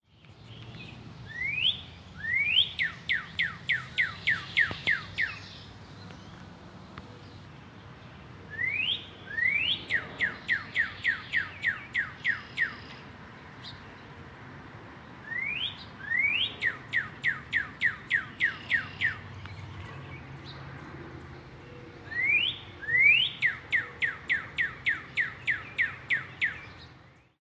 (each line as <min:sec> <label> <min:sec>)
0:01.3 Whistling Bird 0:05.4
0:08.5 Whistling Bird 0:12.9
0:15.2 Whistling Bird 0:19.2
0:22.1 Whistling Bird 0:26.7